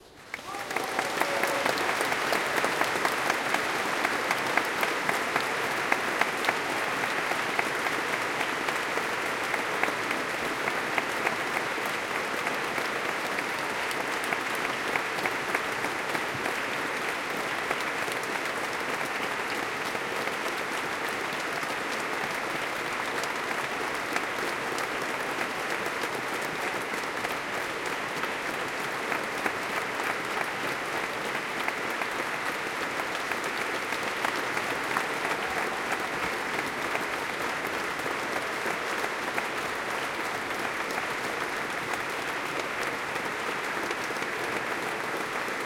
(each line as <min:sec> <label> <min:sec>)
0:00.0 applause 0:45.6
0:00.2 cheering 0:45.6